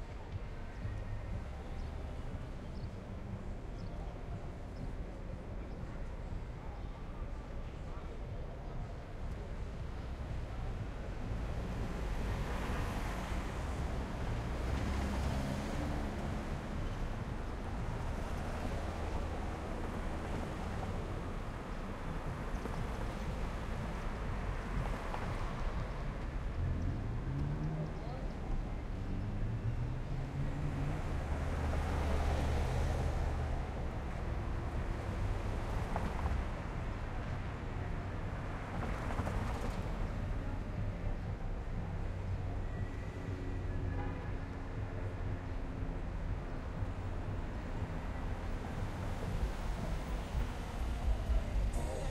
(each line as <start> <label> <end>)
0.0 traffic 52.1
0.0 music in vehicle passby 52.1
33.8 train 43.0
43.9 train 45.0
48.2 train 52.1